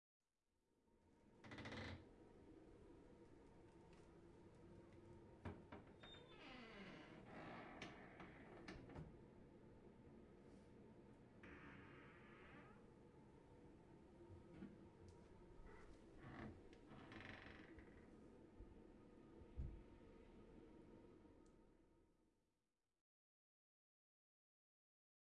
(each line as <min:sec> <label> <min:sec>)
0:01.4 Creaky door opens and closes slowly 0:02.1
0:05.4 Creaky door opens and closes slowly 0:09.1
0:11.4 Creaky door opens and closes slowly 0:12.9
0:15.6 Creaky door opens and closes slowly 0:18.1